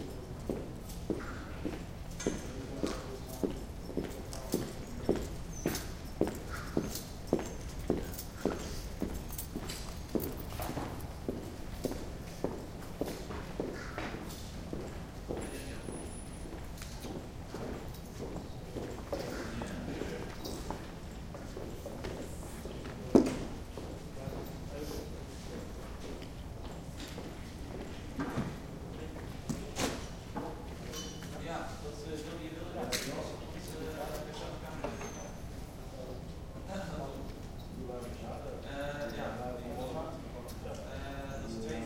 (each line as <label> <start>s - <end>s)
Footsteps 0.5s - 24.5s